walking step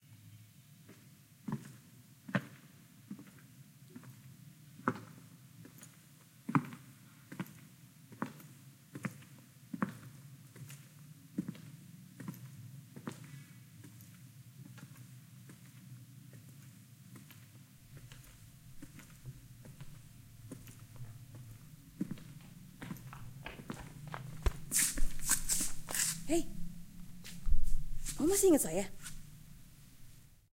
0:17.2 0:30.2

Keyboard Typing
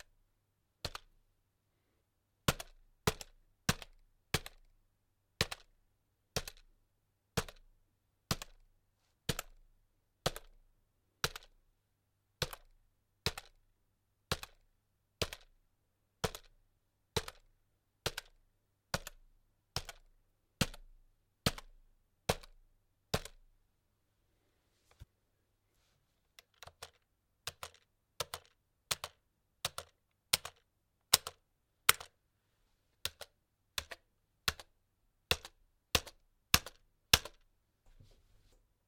0:11.2 0:11.6, 0:14.3 0:15.6, 0:16.2 0:23.4, 0:26.4 0:32.2, 0:33.0 0:37.4

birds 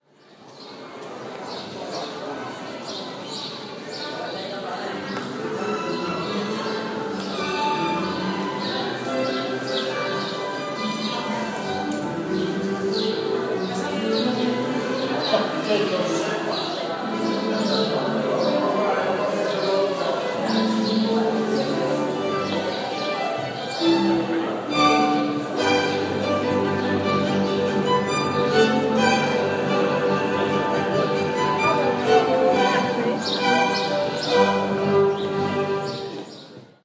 0:00.2 0:07.4, 0:33.2 0:36.6

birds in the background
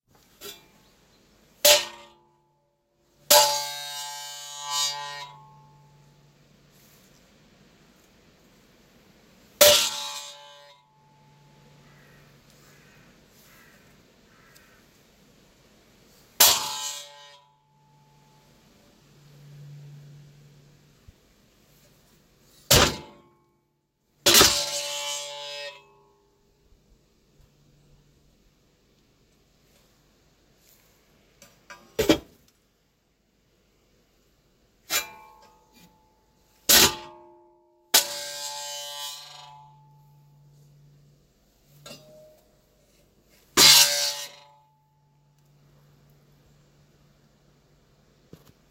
0:00.7 0:01.6, 0:11.4 0:15.9

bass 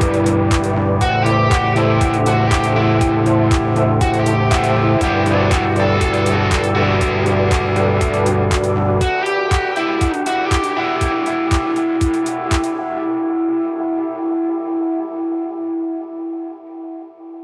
0:00.0 0:13.3

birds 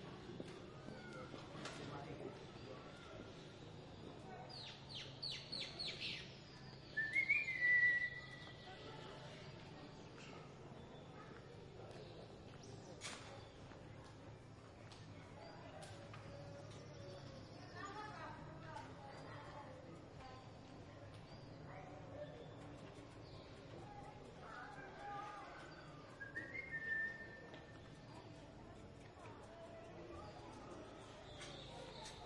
0:20.5 0:32.2

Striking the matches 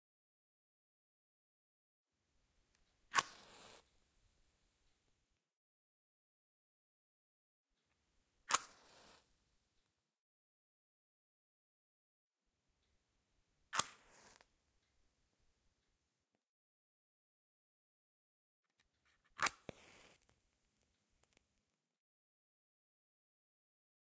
0:03.1 0:03.8, 0:08.5 0:09.3, 0:13.7 0:14.5

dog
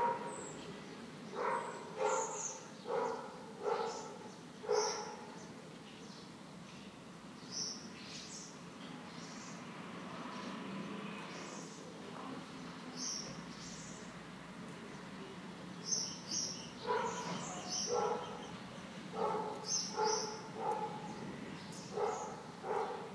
0:00.0 0:00.3, 0:01.4 0:05.3, 0:16.9 0:18.4, 0:19.2 0:21.1, 0:21.9 0:23.1

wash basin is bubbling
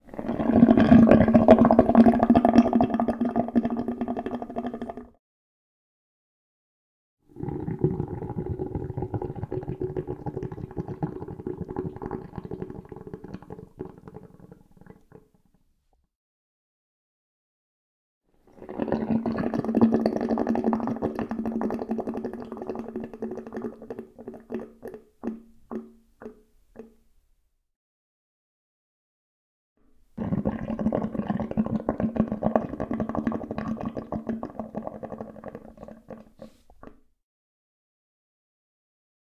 0:00.1 0:05.2, 0:07.4 0:15.3, 0:18.5 0:26.9, 0:30.2 0:37.0

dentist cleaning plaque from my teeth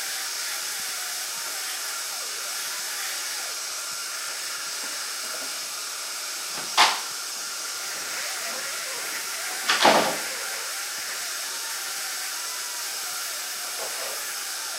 0:01.5 0:12.8

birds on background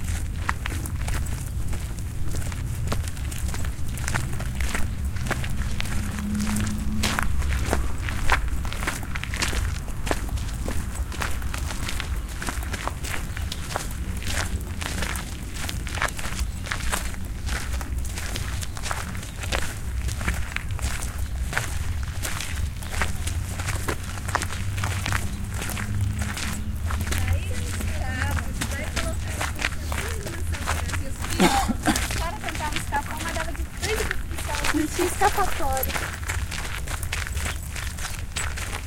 0:10.4 0:31.4

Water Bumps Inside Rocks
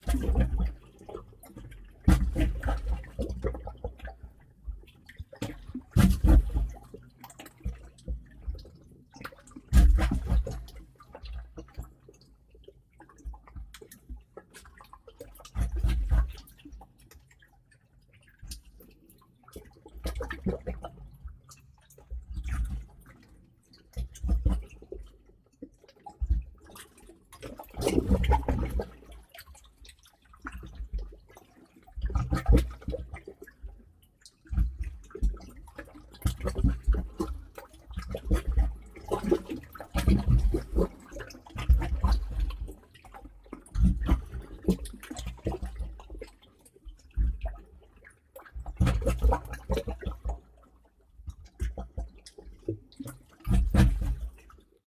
0:38.0 0:42.4, 0:53.4 0:54.3

